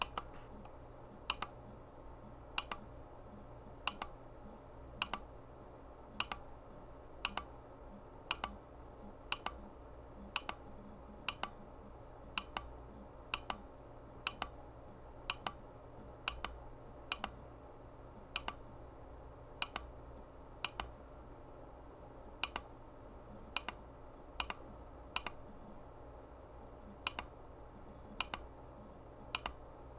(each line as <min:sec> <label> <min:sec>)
0:00.0 computer mouse trackball clicking 0:01.6
0:02.6 computer mouse trackball clicking 0:03.0
0:03.9 computer mouse trackball clicking 0:04.2
0:05.0 computer mouse trackball clicking 0:05.3
0:06.2 computer mouse trackball clicking 0:06.5
0:07.2 computer mouse trackball clicking 0:07.5
0:08.3 computer mouse trackball clicking 0:08.6
0:09.3 computer mouse trackball clicking 0:09.6
0:10.3 computer mouse trackball clicking 0:11.6
0:12.4 computer mouse trackball clicking 0:13.6
0:14.2 computer mouse trackball clicking 0:14.6
0:15.3 computer mouse trackball clicking 0:15.6
0:16.3 computer mouse trackball clicking 0:17.4
0:18.3 computer mouse trackball clicking 0:18.7
0:19.6 computer mouse trackball clicking 0:20.0
0:20.6 computer mouse trackball clicking 0:21.0
0:22.4 computer mouse trackball clicking 0:22.8
0:23.4 computer mouse trackball clicking 0:23.8
0:24.4 computer mouse trackball clicking 0:25.4
0:27.0 computer mouse trackball clicking 0:27.4
0:28.1 computer mouse trackball clicking 0:28.5
0:29.3 computer mouse trackball clicking 0:29.6